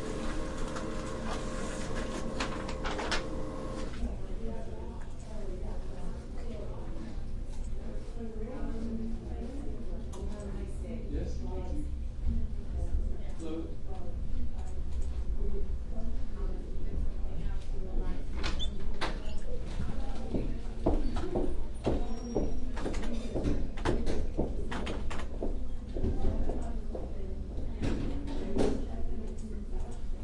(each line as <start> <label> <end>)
0.0 printer 4.0